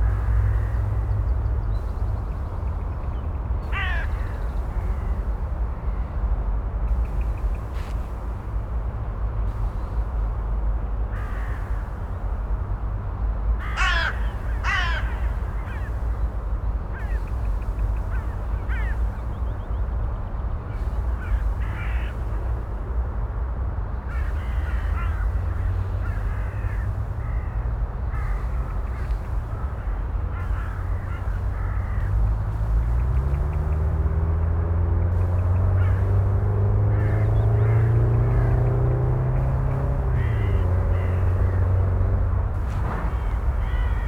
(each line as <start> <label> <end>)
0.0 crows 1.2
3.6 crows 5.1
11.1 crows 12.0
13.6 crows 16.1
16.9 crows 17.4
18.0 crows 19.2
21.1 crows 22.6
24.1 crows 32.8
35.8 crows 36.2
36.9 crows 38.6
39.3 crows 41.9
43.0 crows 44.0